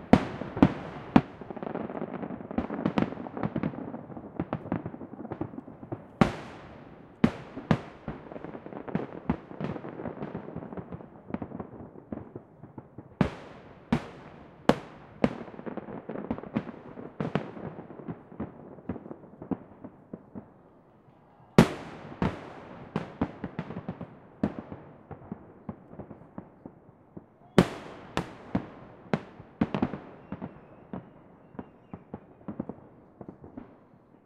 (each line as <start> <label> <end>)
0.0 Salute fireworks 34.2